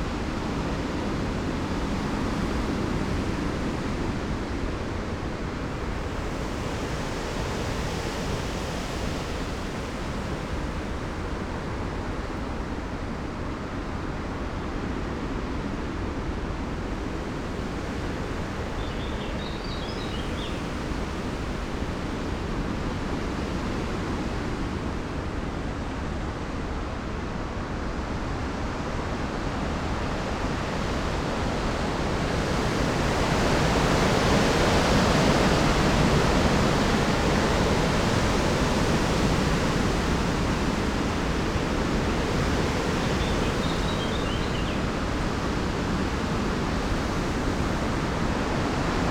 bird song 0:18.7 - 0:20.9
bird song 0:42.8 - 0:44.9

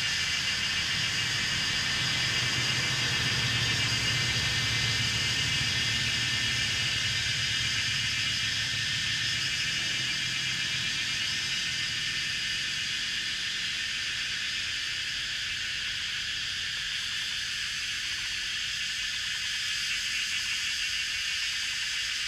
Traffic Sound 0:00.0 - 0:14.5
Cicadas cry 0:00.0 - 0:22.2

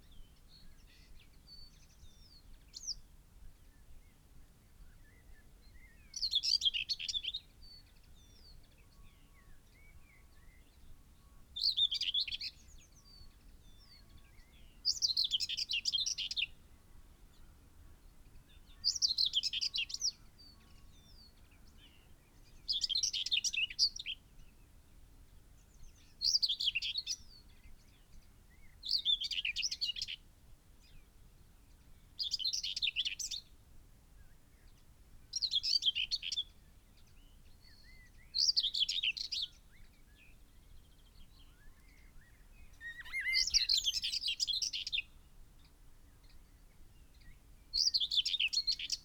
pheasant 0:34.2 - 0:49.0
blackbird 0:34.6 - 0:45.2
skylark 0:41.4 - 0:45.0
blackbird 0:46.2 - 0:49.0

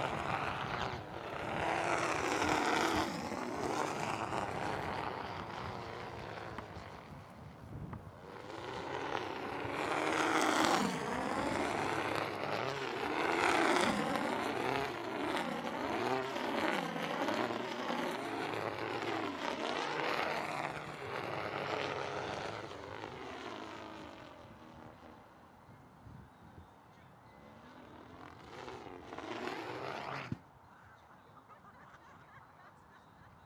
wind (which unfortunately also hits the microphones 0:00.0 - 0:22.8
kite is rattling in the wind 0:00.0 - 0:30.6

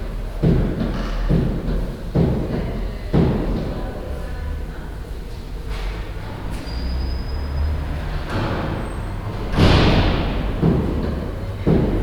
people talking 0:02.0 - 0:07.3
people talking 0:08.5 - 0:12.0

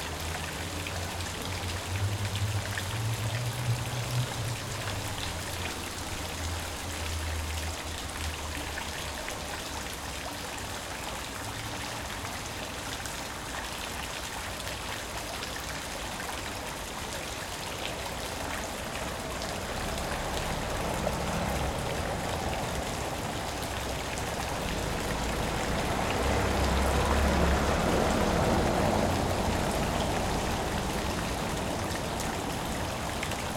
Artesian well 0:00.0 - 0:33.5

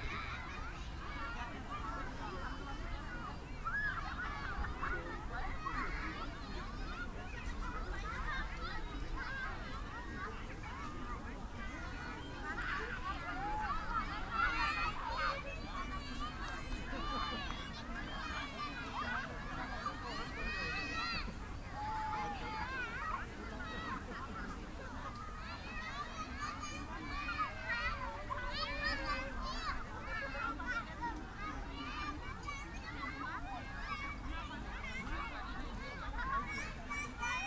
kids and their parents gathering 0:00.0 - 0:37.4

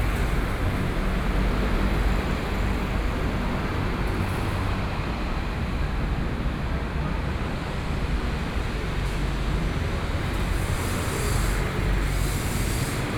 Traffic Noise 0:00.0 - 0:13.1

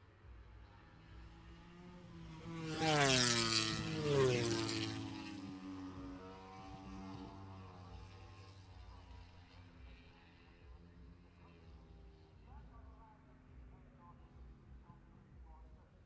motorcycle grand prix 0:00.0 - 0:16.0

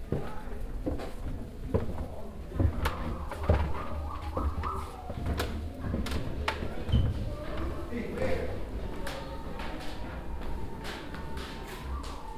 steps on the wooden construction 0:00.0 - 0:12.3
visitors voices 0:01.6 - 0:12.3

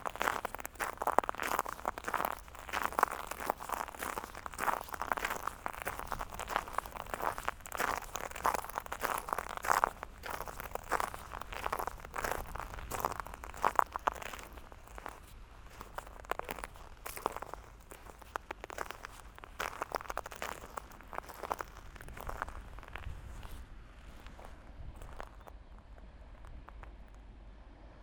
Walking on shells 0:00.0 - 0:23.6
Walking on shells 0:24.2 - 0:27.1

